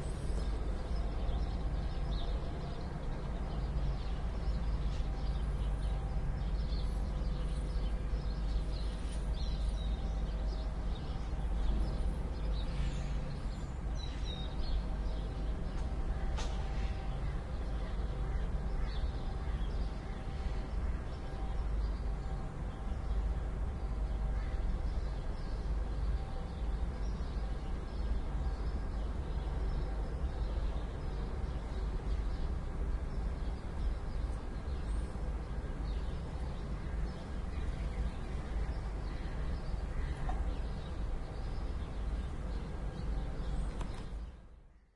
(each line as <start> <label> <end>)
0.0 road sweepers in their sweeping trucks 17.5
0.0 traffic 44.7
0.0 sparrows 44.9